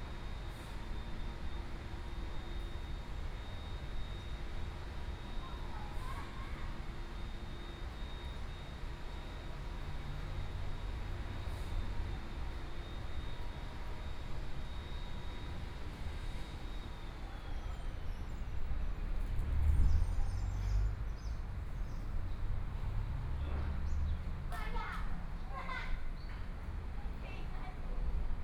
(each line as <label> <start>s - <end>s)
Traffic Sound 18.7s - 25.7s